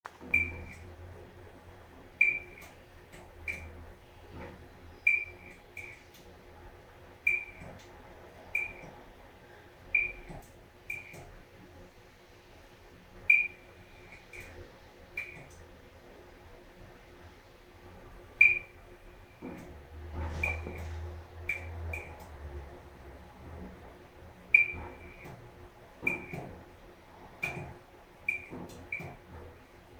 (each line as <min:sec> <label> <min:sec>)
0:26.0 damaged fluorescent capacitor trying to turn on the light 0:26.5